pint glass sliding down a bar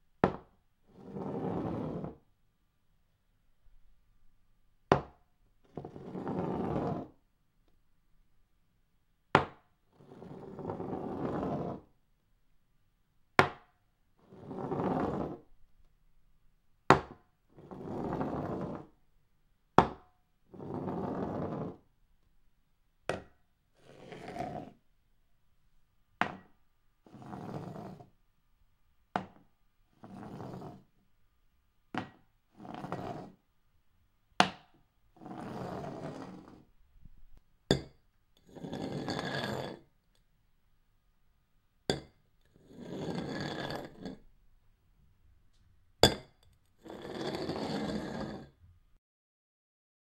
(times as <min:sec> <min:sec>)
0:01.0 0:02.1, 0:23.8 0:24.7, 0:27.1 0:28.0, 0:30.0 0:30.8, 0:32.6 0:33.3, 0:38.4 0:39.8, 0:41.9 0:44.2, 0:46.8 0:48.5